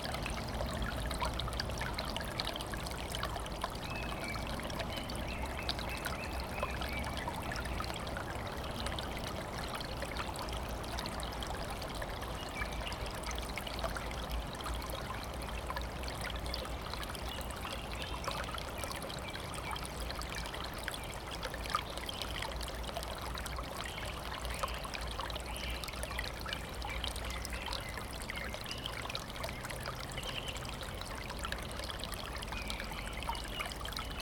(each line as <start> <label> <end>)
0.0 stream flowing out of a spring 34.2